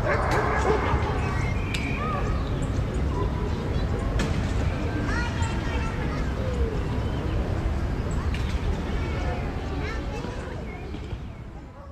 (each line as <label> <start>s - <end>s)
barking of dogs 0.0s - 1.3s
screams of children 0.0s - 2.4s
singing of birds 0.0s - 11.7s
traffic 0.0s - 11.9s